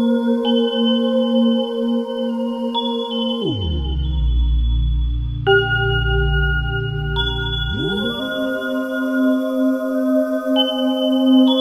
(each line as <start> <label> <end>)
1.1 ambient melodies 11.6
2.7 ambient droning 11.6